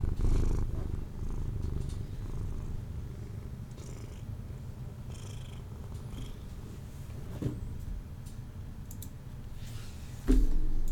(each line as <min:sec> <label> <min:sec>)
0:00.0 cat purring 0:06.6